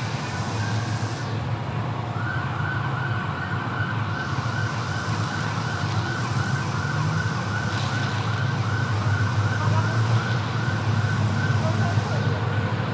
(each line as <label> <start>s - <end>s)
ambulance 0.0s - 12.9s
motorcycle 0.0s - 12.9s
wind 0.0s - 12.9s
voices 5.2s - 12.5s